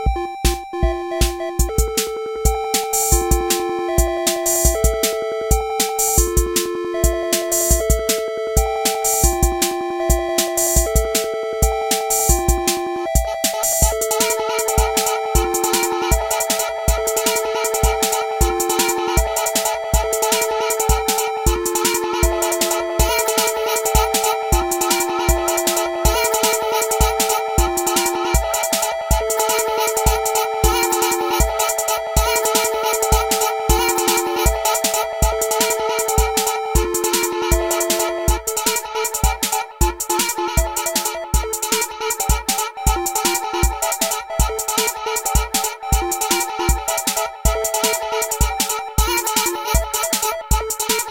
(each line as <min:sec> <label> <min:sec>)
0:00.0 synth 0:49.5
0:00.0 tr606 0:51.0
0:01.2 vocal 0:51.1